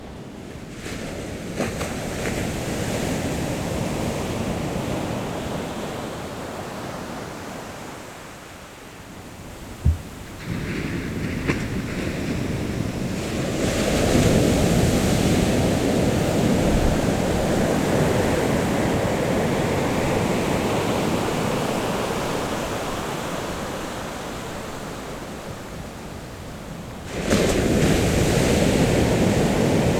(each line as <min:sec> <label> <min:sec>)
0:09.6 Waves lap 0:15.0